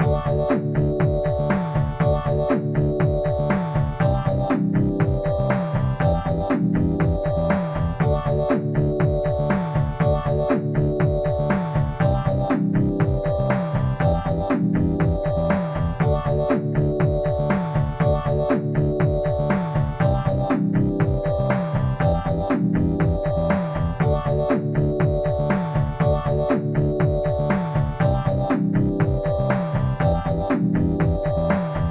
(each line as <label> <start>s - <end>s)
bass 0.0s - 31.9s
drum 0.0s - 31.9s
synth 0.0s - 31.9s